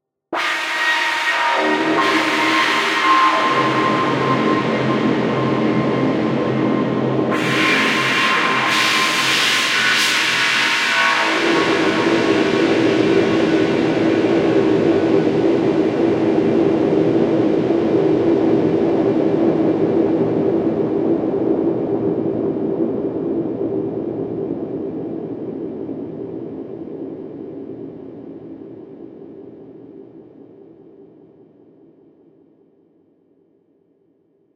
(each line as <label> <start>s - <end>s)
synthesized scary blood-curdling scream 0.4s - 15.6s